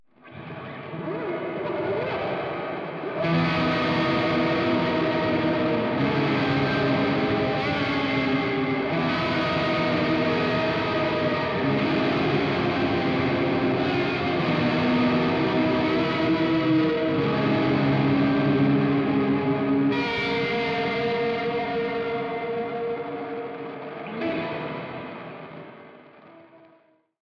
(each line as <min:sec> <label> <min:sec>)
0:00.0 shoegaze guitar 0:27.0